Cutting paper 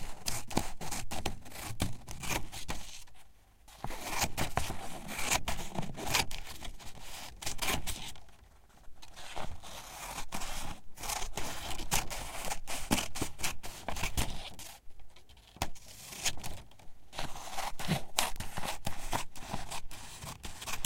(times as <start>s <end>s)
9.1s 14.6s, 15.6s 20.8s